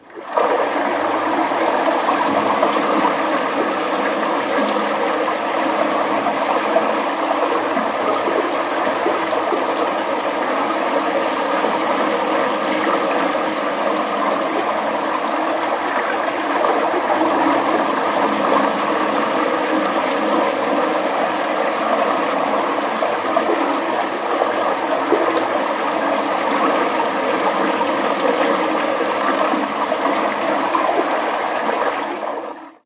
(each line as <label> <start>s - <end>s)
pouring down water in a tub 0.0s - 32.8s